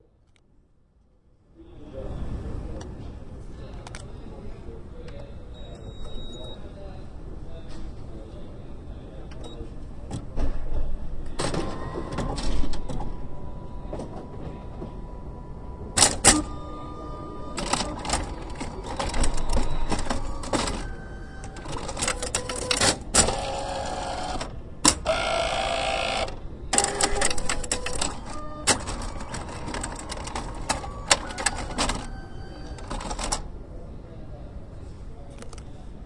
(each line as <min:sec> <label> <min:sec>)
0:17.5 Printer Startup 0:33.4